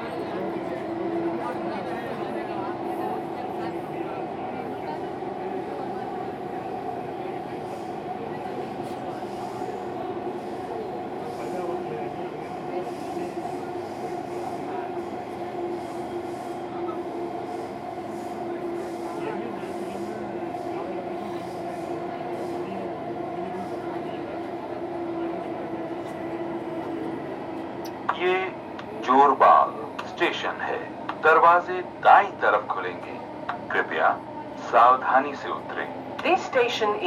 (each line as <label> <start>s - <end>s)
Announcements 28.1s - 37.0s